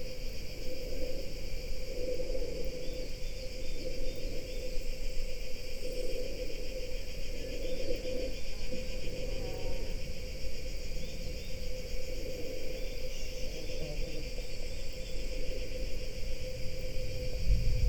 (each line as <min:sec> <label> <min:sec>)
0:00.0 cicadas 0:17.8
0:00.0 wind 0:17.8
0:16.0 distant thunder 0:17.8